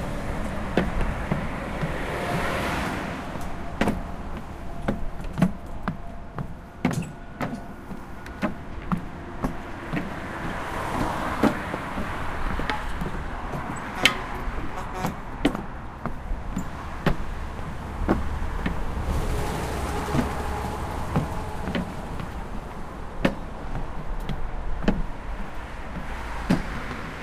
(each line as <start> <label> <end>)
0.0 cars 27.2
0.0 footsteps 27.2